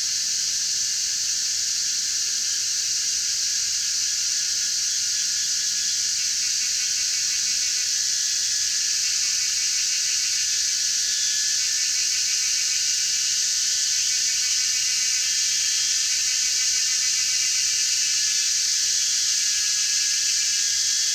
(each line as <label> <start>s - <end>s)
Cicadas cry 0.0s - 21.1s